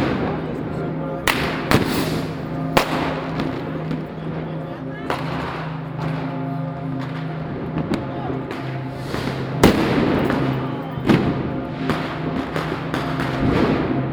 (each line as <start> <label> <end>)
0.0 People 14.1
1.3 Fireworks 4.0
7.0 Fireworks 14.1